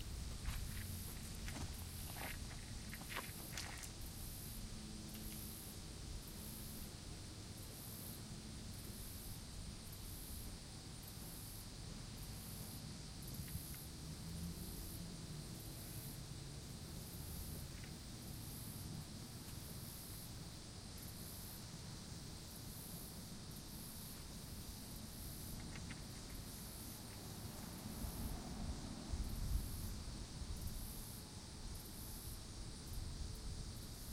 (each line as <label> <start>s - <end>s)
footsteps 0.0s - 4.0s
traffic 0.0s - 6.1s
crickets 0.0s - 34.1s
daytime cicadas 0.0s - 34.1s
light wind 0.0s - 34.1s
traffic 12.8s - 19.7s
traffic 24.1s - 32.6s